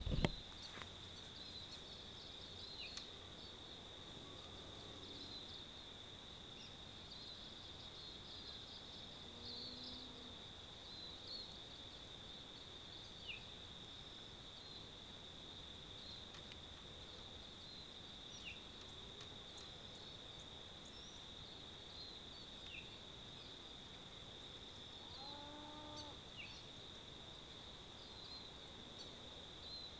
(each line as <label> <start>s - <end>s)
handling noise 0.0s - 0.4s
Crickets 0.0s - 29.9s
cow moo in the distance 25.1s - 26.2s